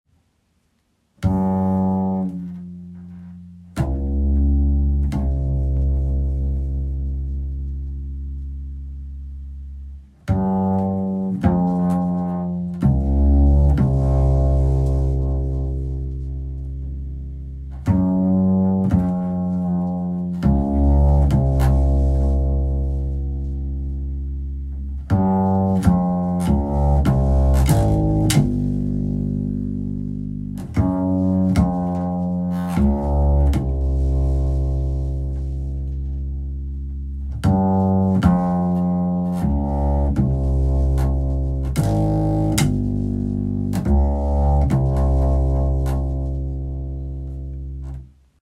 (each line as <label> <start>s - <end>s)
Double bass upright bass 0.2s - 48.4s